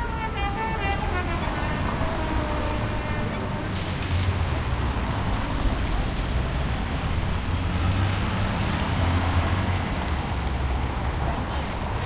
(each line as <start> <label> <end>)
0.0 trumpet player 4.2